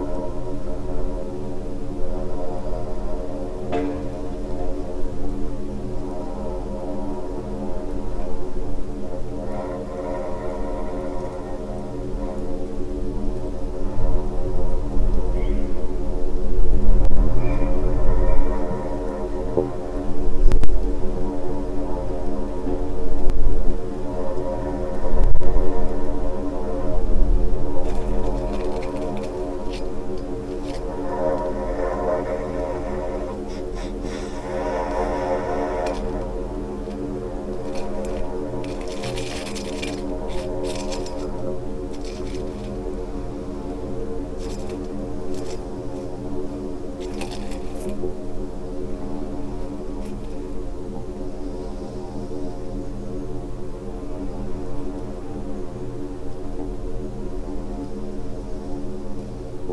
flies 0:00.0 - 0:59.7
wind 0:00.0 - 0:59.7
sand and tiny stones 0:27.7 - 0:46.2
breath 0:33.4 - 0:36.2

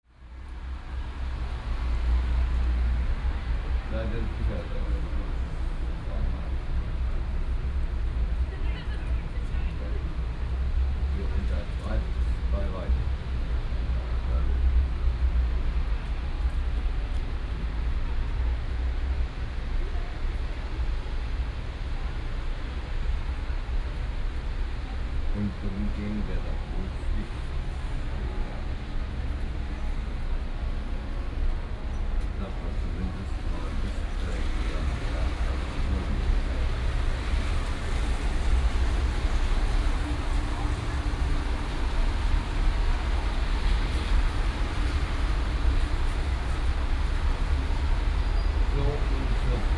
cars on the wet street 0:00.1 - 0:49.7

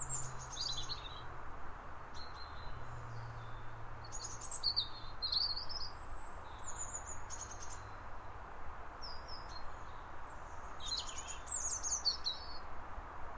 Birdsong 0:00.0 - 0:01.3
Birdsong 0:02.2 - 0:08.4
Birdsong 0:09.0 - 0:12.7

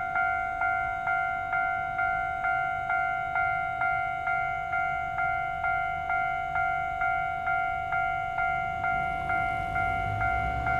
train passes by 0:00.0 - 0:10.7
Traffic sound 0:08.2 - 0:10.7

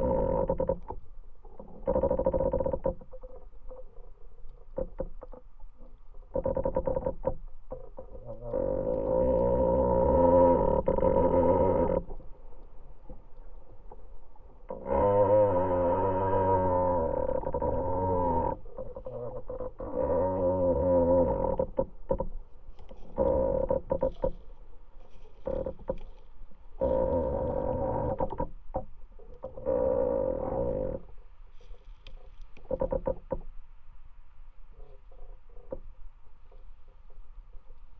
moaning tree 0:00.0 - 0:37.9

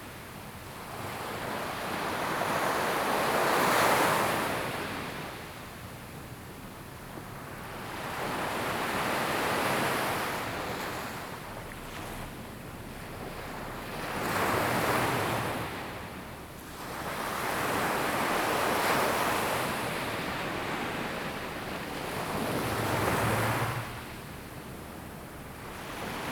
waves 0:07.4 - 0:26.3

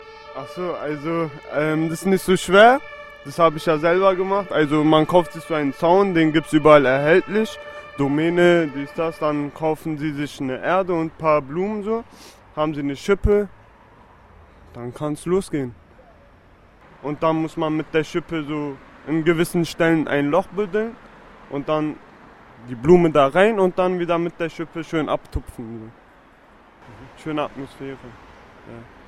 Man describing how to plant a flower garden 0:00.3 - 0:13.5
Man describing how to plant a flower garden 0:14.7 - 0:15.8
Man describing how to plant a flower garden 0:17.0 - 0:22.0
Man describing how to plant a flower garden 0:22.6 - 0:26.0
Man describing how to plant a flower garden 0:26.9 - 0:28.9

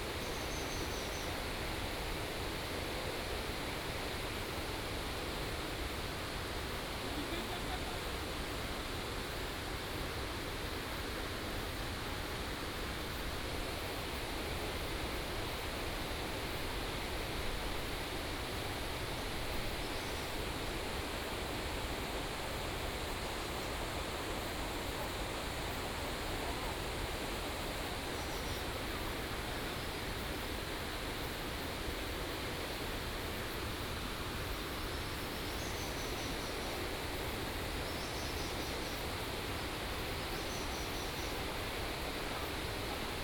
Stream sound 0:00.0 - 0:43.2

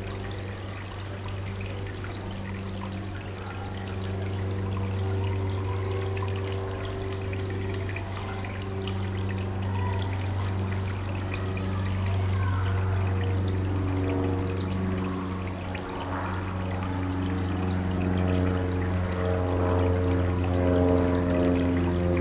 water 0:00.0 - 0:22.2

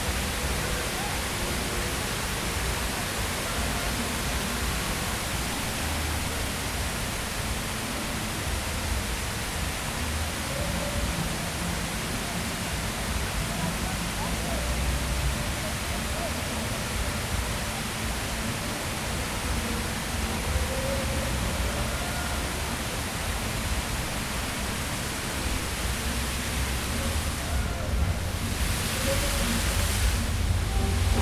fountain 0:00.0 - 0:31.2

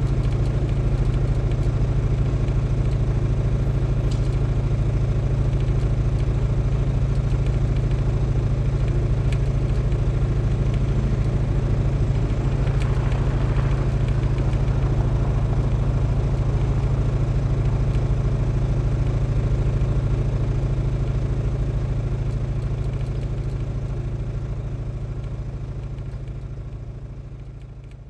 generator 0:02.6 - 0:26.1

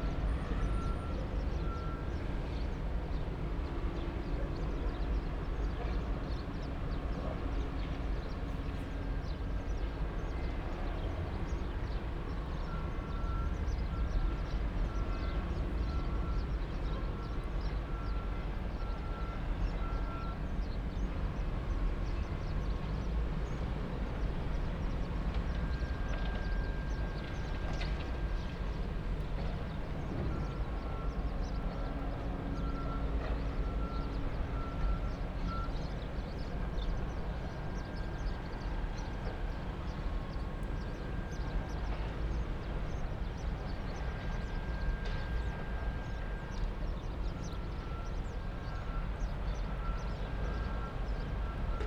Hum of the gas power plant 0:00.0 - 0:51.8
distant Freeport sounds 0:00.0 - 0:51.8

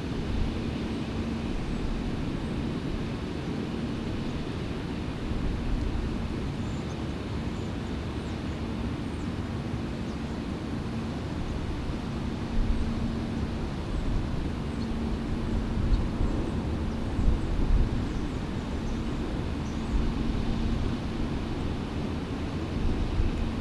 Planes 0:00.0 - 0:23.6
distant roar of the lock spillway and fish ladder 0:00.0 - 0:23.6
guided tour boat coming through the lock 0:00.0 - 0:23.6

